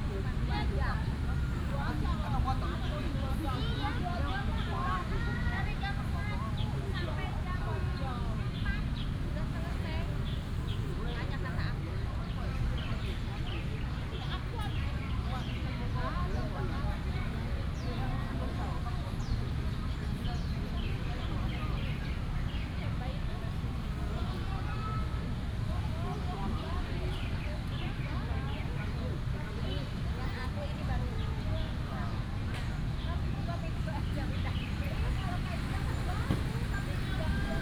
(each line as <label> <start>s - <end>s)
The voice of the market 0.0s - 37.6s
Traffic sound 0.0s - 37.6s